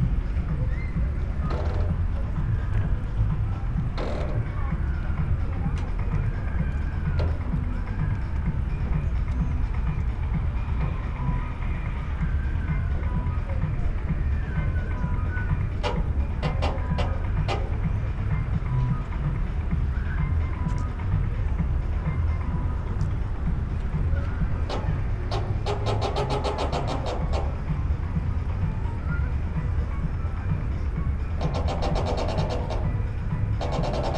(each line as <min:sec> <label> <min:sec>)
0:00.3 drawbridge, squeaks 0:21.4
0:22.0 drawbridge, squeaks 0:34.1